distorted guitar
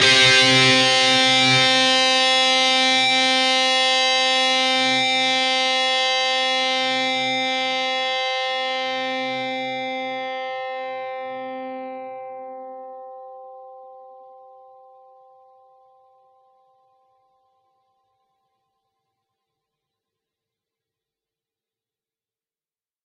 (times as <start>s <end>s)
0.0s 13.2s